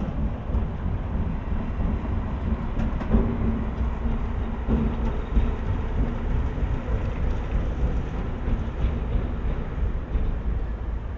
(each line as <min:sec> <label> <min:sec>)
0:00.0 traffic on bridge 0:11.1